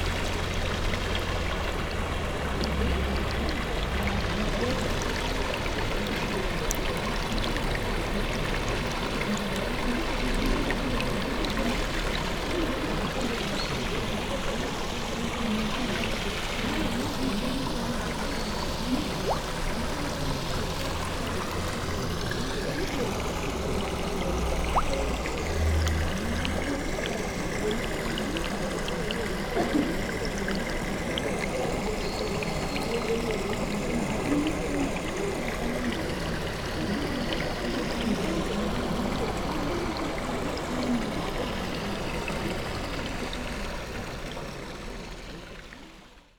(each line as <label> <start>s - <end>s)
golden fishes 0.0s - 46.3s